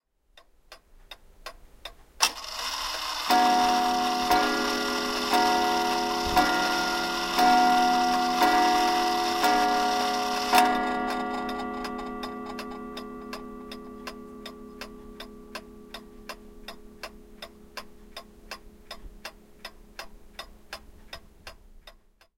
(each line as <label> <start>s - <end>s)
ticking 0.4s - 22.3s
antique, clockwork clock chiming 2.3s - 18.9s